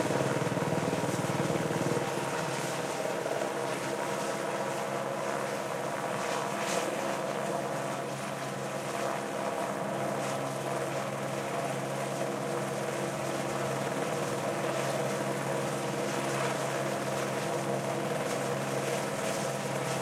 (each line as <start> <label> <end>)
0.0 Helicopter Hover 20.0